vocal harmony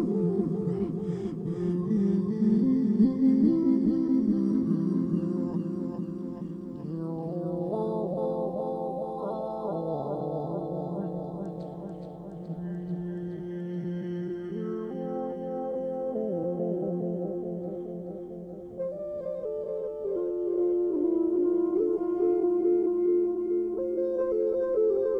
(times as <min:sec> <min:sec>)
0:00.0 0:19.1